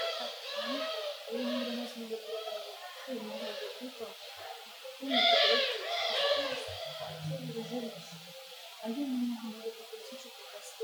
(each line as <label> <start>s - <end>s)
Шум ветра 5.2s - 9.4s